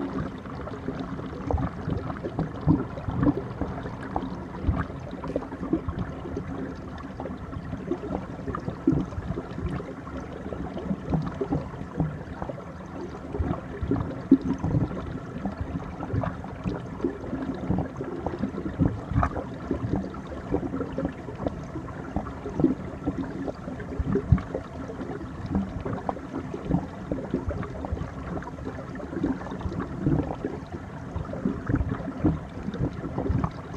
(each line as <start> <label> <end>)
0.0 churning waters under the ice 33.7